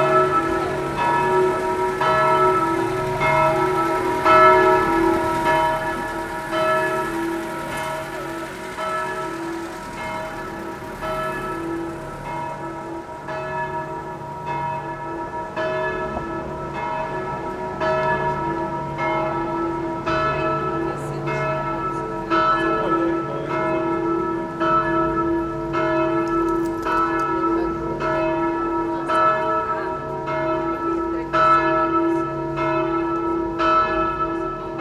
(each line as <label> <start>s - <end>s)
Bells ringing 0.0s - 34.8s